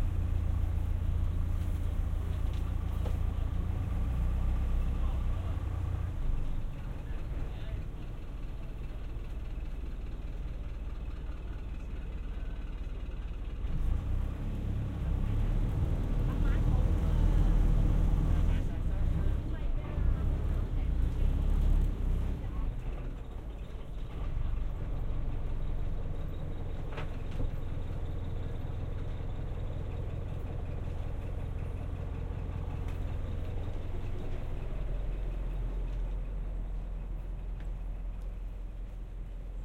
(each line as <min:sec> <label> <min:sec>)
0:00.0 boat 0:39.6